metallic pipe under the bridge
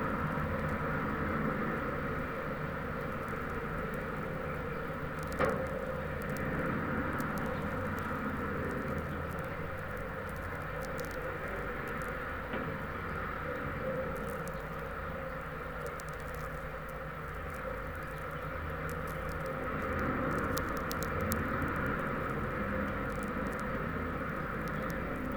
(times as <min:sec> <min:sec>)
0:00.0 0:15.6